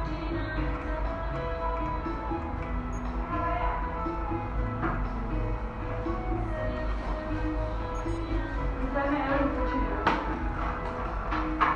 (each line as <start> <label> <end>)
0.0 intervención odontólogo 11.7
0.0 música de ambiente 11.7